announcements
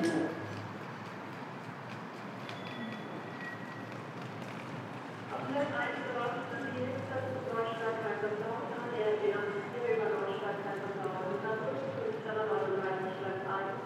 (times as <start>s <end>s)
5.4s 13.8s